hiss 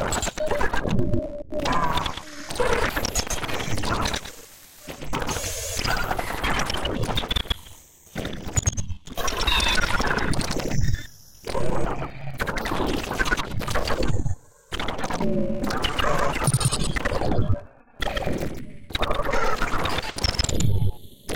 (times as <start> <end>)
4.2 6.5